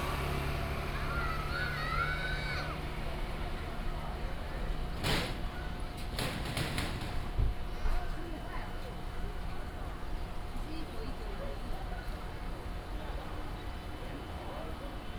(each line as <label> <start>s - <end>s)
Traffic Sound 0.0s - 6.0s